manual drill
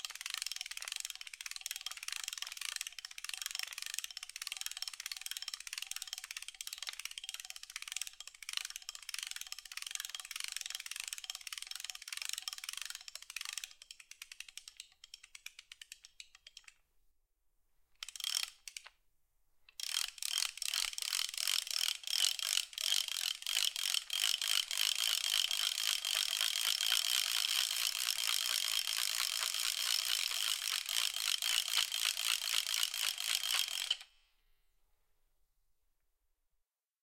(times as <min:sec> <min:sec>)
0:20.0 0:34.1